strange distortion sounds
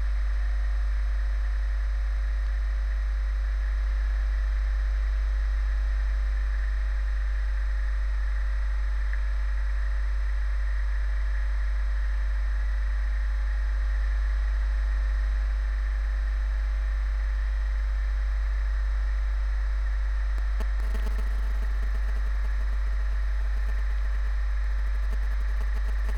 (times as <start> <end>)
20.4 26.1